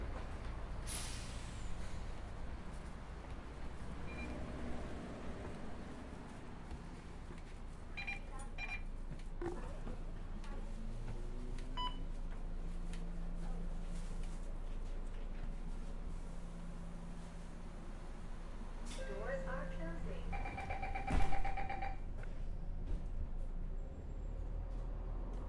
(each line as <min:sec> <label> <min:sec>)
0:00.0 Bus ride 0:25.4
0:20.9 door open 0:21.9